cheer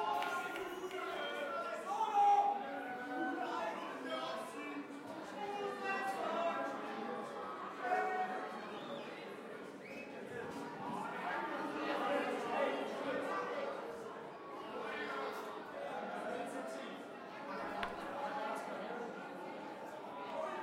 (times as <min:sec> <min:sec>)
0:00.0 0:04.7